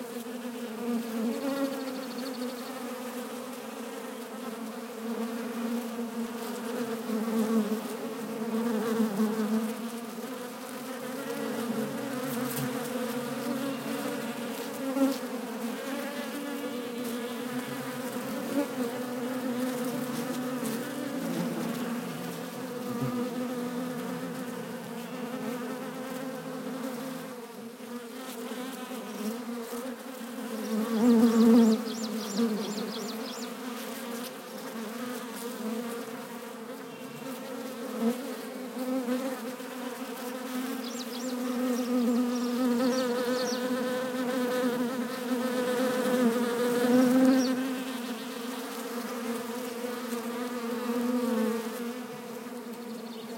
0.0s swarm of wasps 53.3s

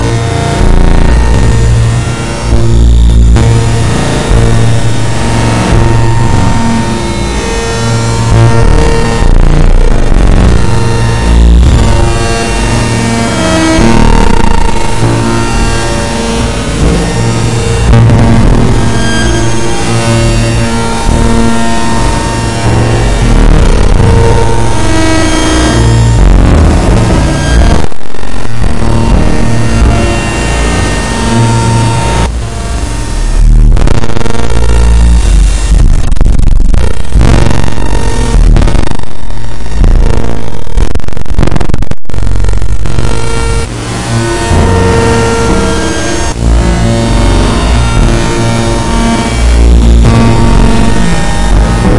0.0s extreme noise 51.9s

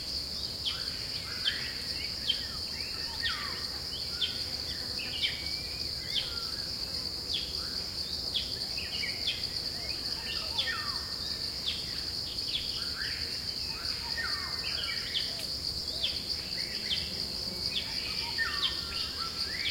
0.0s Birds 19.7s
0.0s cicadas 19.7s

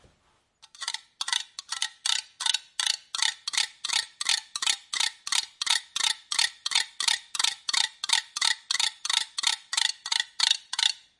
0.6s rhythms created using kitchen implements 11.1s

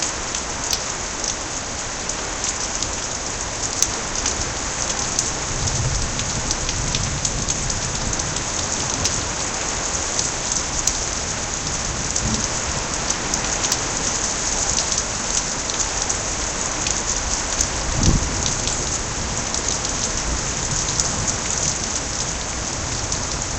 0.0s rain 23.5s
0.0s water was rolling out over the edges and onto the concrete patio 23.5s
0.0s wind 23.5s
2.4s hail 23.5s
11.7s thunder 13.0s
17.8s thunder 21.7s

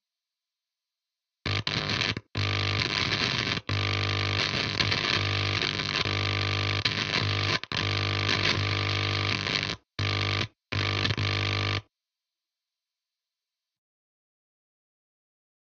1.5s Guitar Hum with Plasma Pedal 11.8s

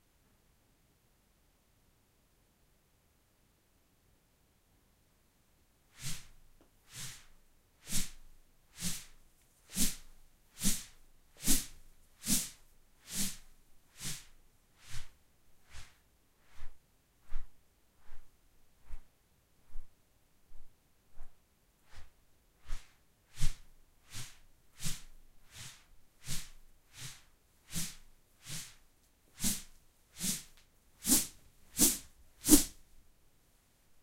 6.0s swang a straw broom 6.3s
6.9s swang a straw broom 8.2s
8.8s swang a straw broom 13.4s
14.0s swang a straw broom 15.1s
22.7s swang a straw broom 28.8s
29.4s swang a straw broom 32.8s

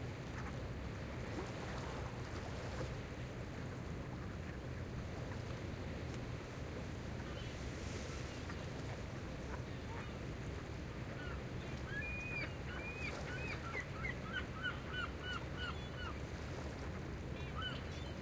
0.0s calm WAVES 18.2s
11.1s SEAGULLS 16.2s
17.3s SEAGULLS 18.2s

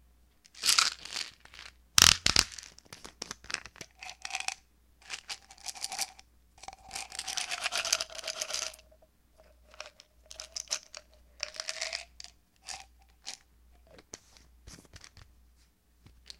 0.5s pills being poured out then back in 15.2s
0.5s pill bottle being opened 14.2s

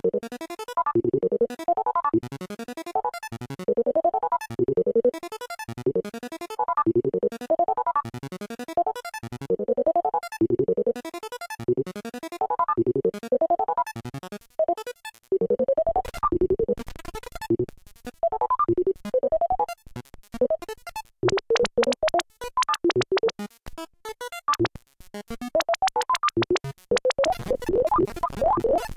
25.6s analog synth 28.9s

